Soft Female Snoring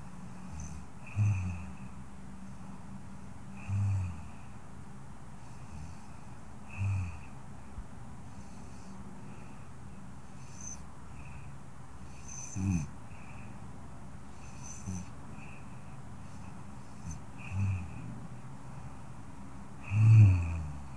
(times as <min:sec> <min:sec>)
0:00.0 0:02.8, 0:03.5 0:04.6, 0:05.4 0:07.4, 0:08.3 0:09.7, 0:10.3 0:13.6, 0:14.3 0:18.1, 0:19.8 0:20.9